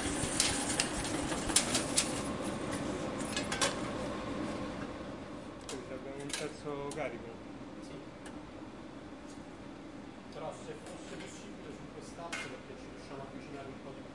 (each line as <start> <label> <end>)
0.0 film projector 4.0